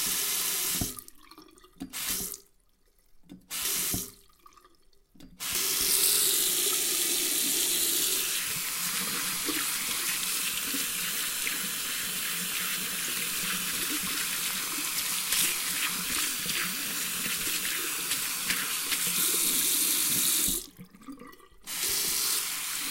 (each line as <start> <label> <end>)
0.0 sink water washing splishing splashing 2.5
0.0 drain 22.9
3.3 sink water washing splishing splashing 4.7
5.4 sink water washing splishing splashing 22.9